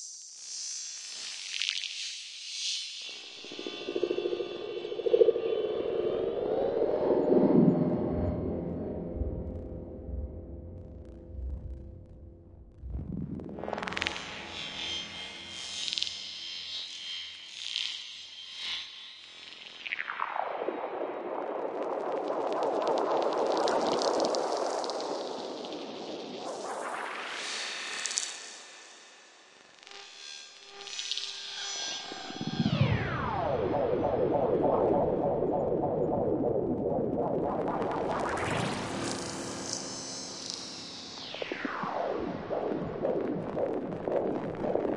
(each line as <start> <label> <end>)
3.1 drone 15.5
31.0 drone 44.9